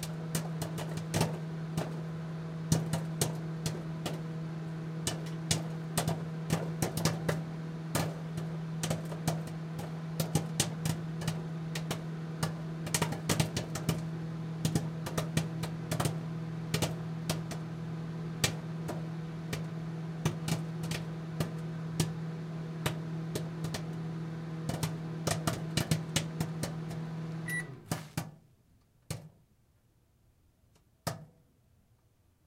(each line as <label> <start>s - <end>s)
Popcorn popping in a microwave 0.0s - 29.4s
Popcorn popping in a microwave 30.8s - 31.5s